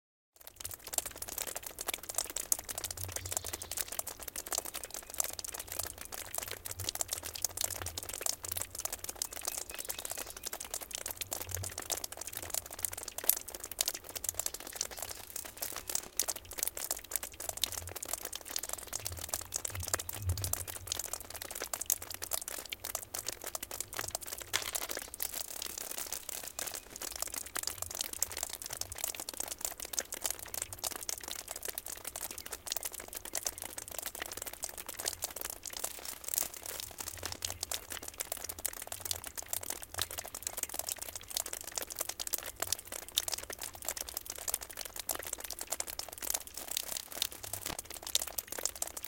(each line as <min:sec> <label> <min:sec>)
0:00.3 drops of water falling on the ground from the eaves 0:49.0
0:02.8 small birds 0:05.9
0:09.2 small birds 0:10.9
0:14.4 small birds 0:16.4